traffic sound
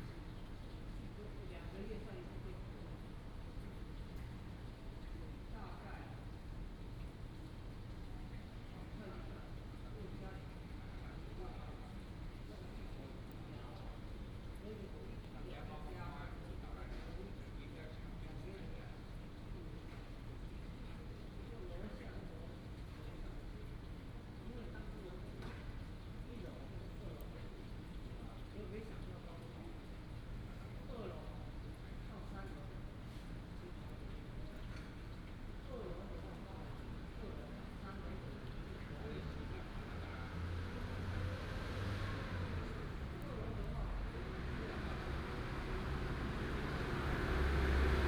40.2 48.0

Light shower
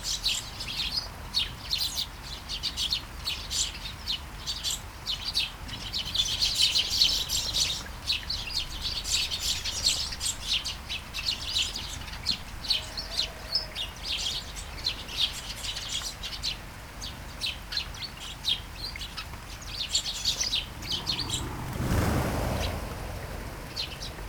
20.2 24.2

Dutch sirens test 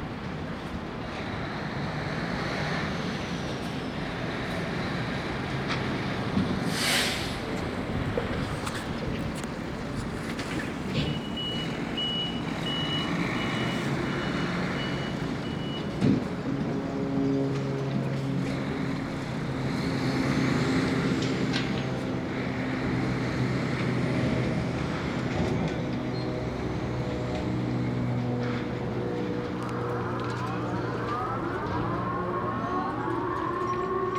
11.0 18.2, 28.2 34.1

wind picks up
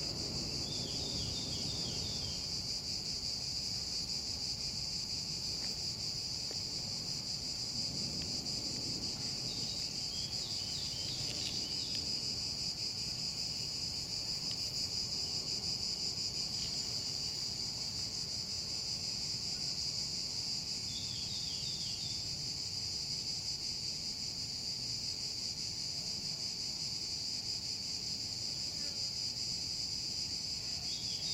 0.0 15.6

